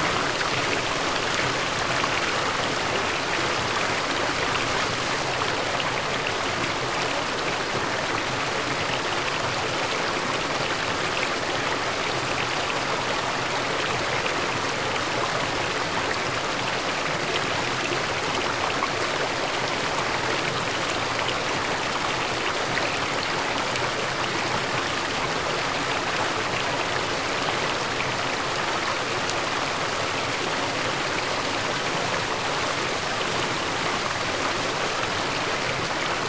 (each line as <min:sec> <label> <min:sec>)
0:00.0 small stream 0:36.2